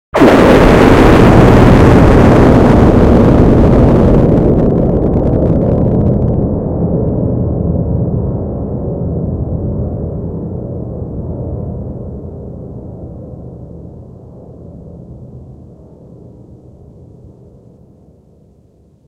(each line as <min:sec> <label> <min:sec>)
0:00.2 LOUD BLAST 0:16.6